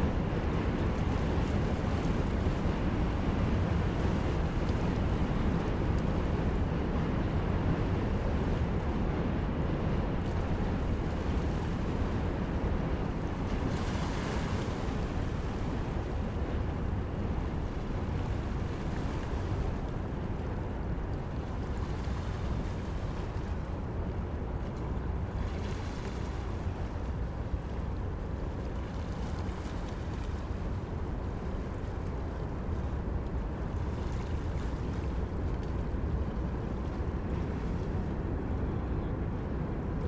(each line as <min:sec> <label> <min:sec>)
0:00.0 river 0:40.0